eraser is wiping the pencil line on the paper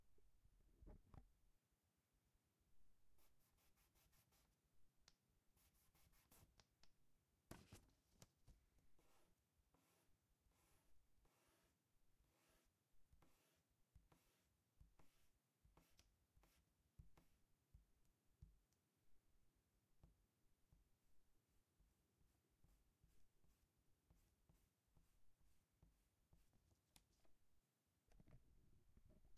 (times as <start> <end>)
3.2 4.6, 5.6 6.6, 8.9 17.4